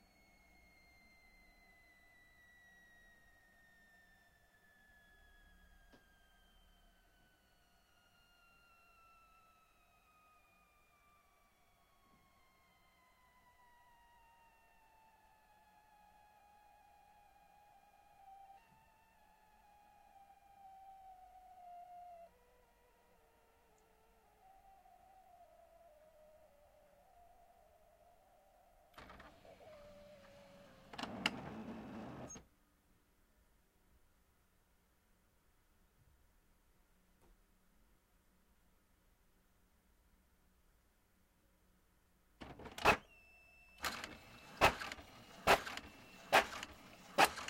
printing 0:29.0 - 0:32.4
printing 0:43.8 - 0:47.4

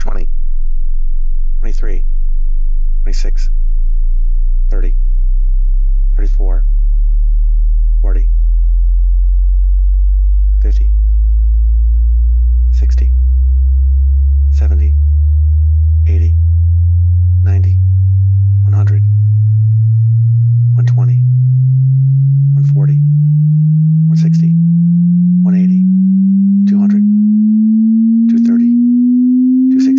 voice calling out certain key frequencies 0:00.0 - 0:00.3
voice calling out certain key frequencies 0:01.6 - 0:02.1
voice calling out certain key frequencies 0:03.0 - 0:03.5
voice calling out certain key frequencies 0:04.7 - 0:05.0
voice calling out certain key frequencies 0:06.1 - 0:06.7
voice calling out certain key frequencies 0:08.0 - 0:08.4
voice calling out certain key frequencies 0:10.6 - 0:11.0
logarithmic frequency sweep 0:12.5 - 0:29.9
voice calling out certain key frequencies 0:12.7 - 0:13.2
voice calling out certain key frequencies 0:14.4 - 0:15.0
voice calling out certain key frequencies 0:16.0 - 0:16.4
voice calling out certain key frequencies 0:17.4 - 0:17.8
voice calling out certain key frequencies 0:18.6 - 0:19.1
voice calling out certain key frequencies 0:20.7 - 0:21.3
voice calling out certain key frequencies 0:22.5 - 0:23.0
voice calling out certain key frequencies 0:24.0 - 0:24.6
voice calling out certain key frequencies 0:25.4 - 0:25.9
voice calling out certain key frequencies 0:26.6 - 0:27.1
voice calling out certain key frequencies 0:28.2 - 0:28.8
voice calling out certain key frequencies 0:29.7 - 0:29.9

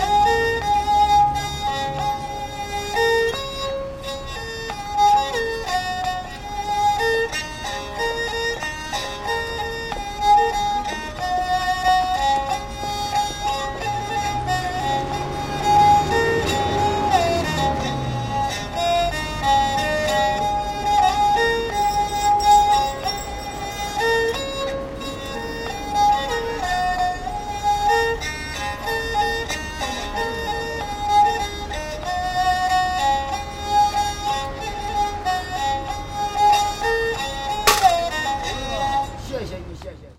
blind man plays the Erhu 0:00.0 - 0:40.1
coin hit the can 0:37.7 - 0:38.1

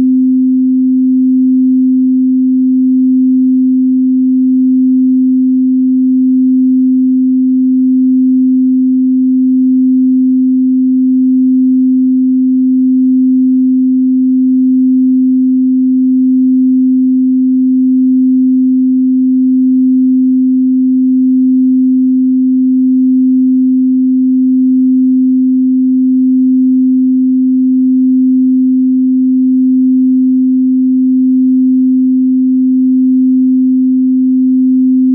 Pure Sine Wave 0:00.0 - 0:35.1

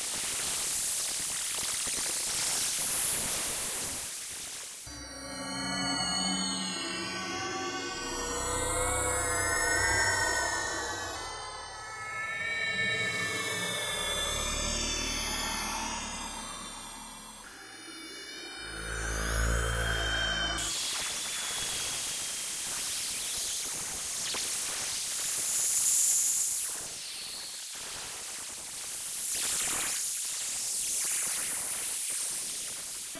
higher frequency screams & space noises 0:04.9 - 0:20.8
space drone 0:04.9 - 0:22.6

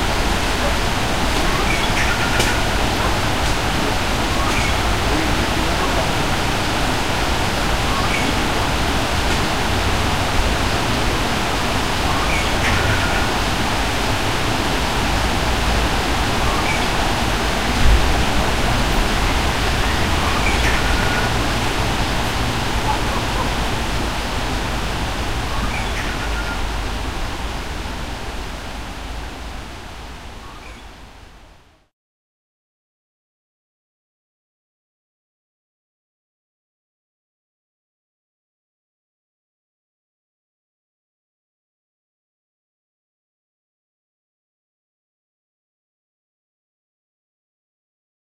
stream gushes in the background 0:00.0 - 0:31.9
bird sings in the trees 0:01.4 - 0:03.1
bird sings in the trees 0:04.2 - 0:06.1
bird sings in the trees 0:07.6 - 0:08.6
bird sings in the trees 0:12.0 - 0:13.4
bird sings in the trees 0:16.3 - 0:17.5
bird sings in the trees 0:19.3 - 0:21.8
bird sings in the trees 0:25.4 - 0:26.7
bird sings in the trees 0:30.3 - 0:31.0

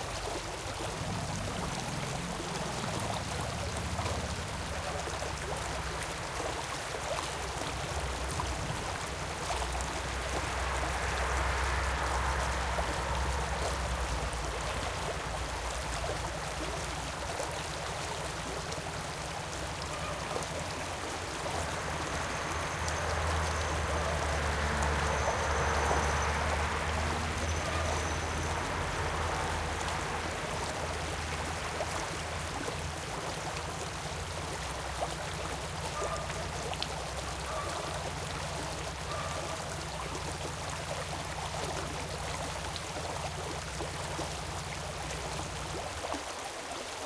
Brook 0:00.0 - 0:47.0
Motorcycle 0:00.9 - 0:04.9
barking dogs 0:36.0 - 0:36.4
barking dogs 0:37.5 - 0:38.0
barking dogs 0:39.1 - 0:39.6

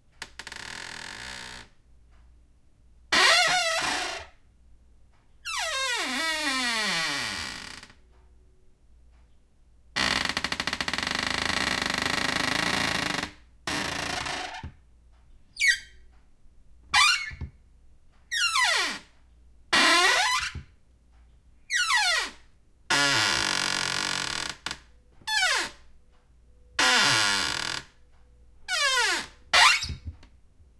cupboard door wood open close creak 0:19.8 - 0:20.7
cupboard door wood open close creak 0:28.7 - 0:30.3

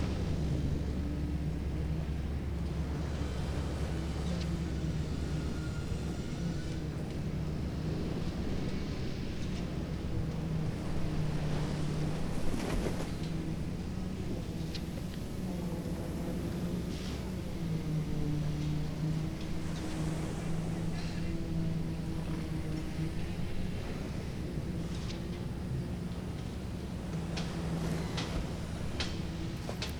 Waves 0:00.0 - 0:29.9
wind 0:00.0 - 0:29.9

